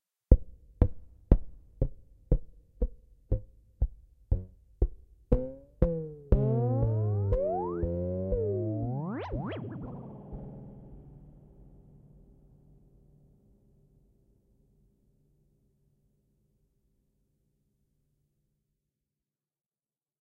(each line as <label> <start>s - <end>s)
imaginary bouncing ball 4.3s - 11.2s